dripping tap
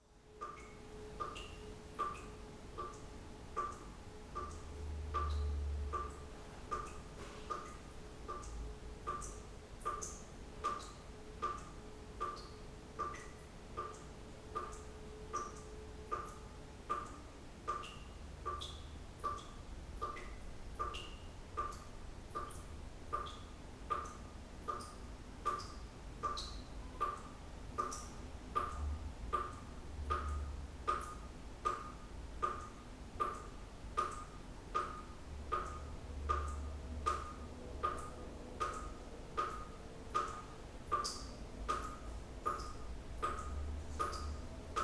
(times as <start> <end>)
29.4 44.8